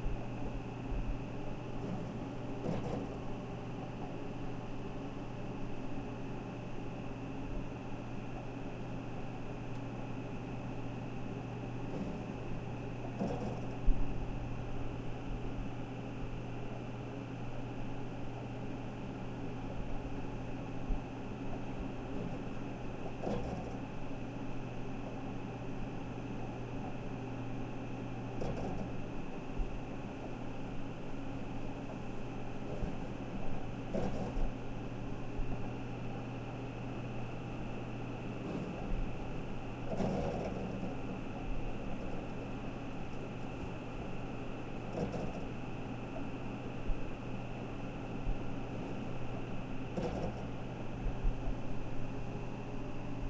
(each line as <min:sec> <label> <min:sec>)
0:00.0 scratching and whirring of a mechanical hard drive 0:53.2